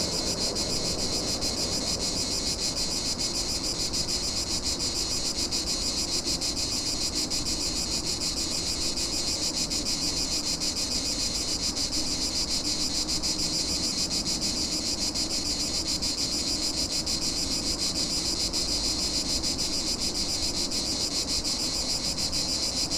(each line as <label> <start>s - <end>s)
transit rumble 0.0s - 3.6s
ocasional planes passing by 0.0s - 4.2s
Cicadas 0.0s - 22.9s